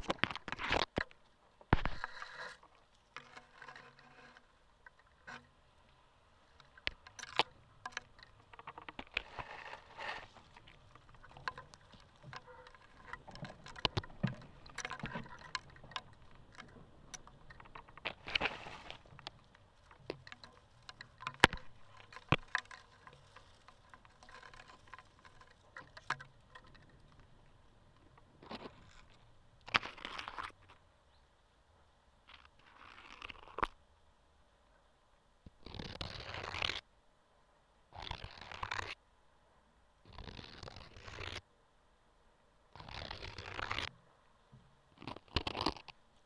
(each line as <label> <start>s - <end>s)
Contact mic improvisation on a wooden bridge 0.0s - 46.2s